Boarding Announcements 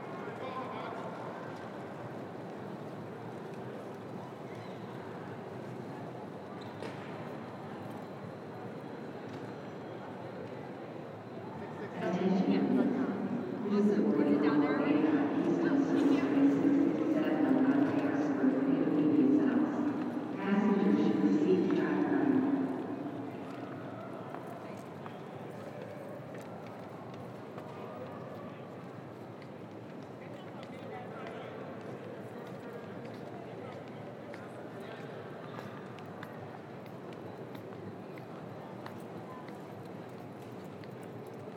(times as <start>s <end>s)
12.0s 22.8s